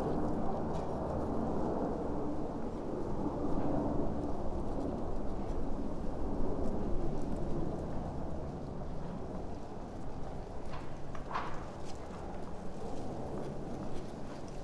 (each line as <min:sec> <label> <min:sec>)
0:00.0 wind 0:14.6
0:09.0 walk 0:14.6